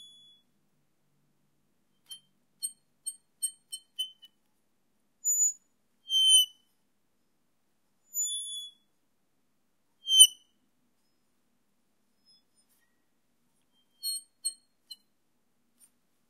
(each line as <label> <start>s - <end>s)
squeak 0.0s - 0.4s
squeak 2.0s - 4.4s
squeak 5.3s - 6.6s
squeak 8.2s - 8.9s
squeak 10.1s - 11.2s
squeak 12.2s - 13.0s
squeak 13.6s - 15.1s